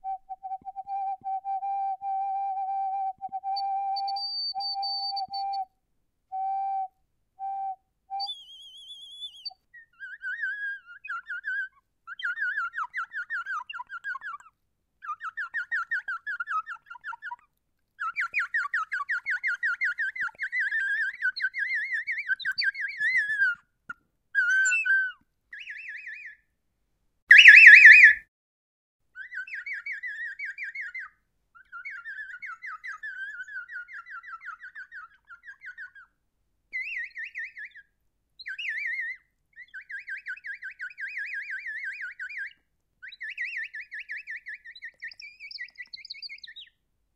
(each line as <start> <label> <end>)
0.0 Bird Water Whistle 5.7
6.4 Bird Water Whistle 9.6
27.3 Bird Water Whistle 28.3